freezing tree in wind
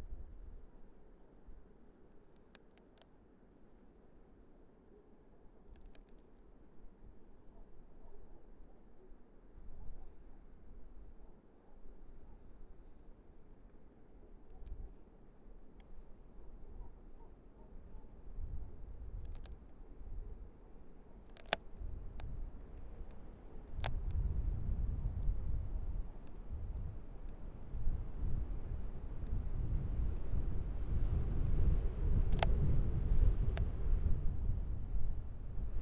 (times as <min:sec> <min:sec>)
0:11.9 0:35.8